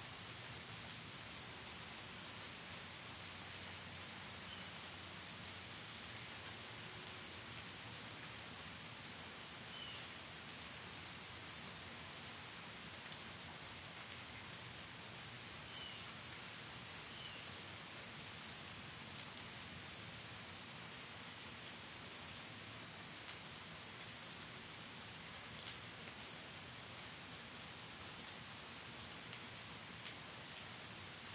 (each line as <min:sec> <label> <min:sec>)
0:00.0 rain 0:31.3